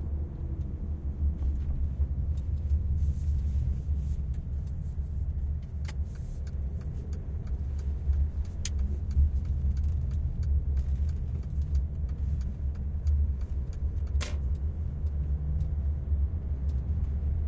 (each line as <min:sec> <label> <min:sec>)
0:00.0 MERCEDES interior driving normal speed 0:17.4